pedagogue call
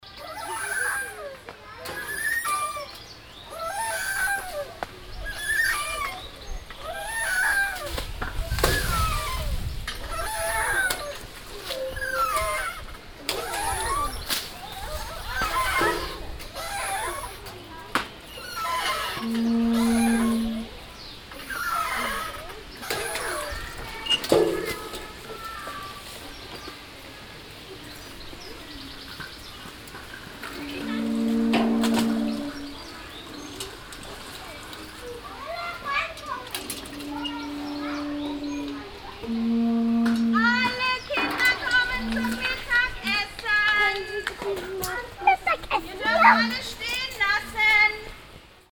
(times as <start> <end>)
18.3 20.8, 30.5 33.0, 36.8 44.4, 45.3 46.8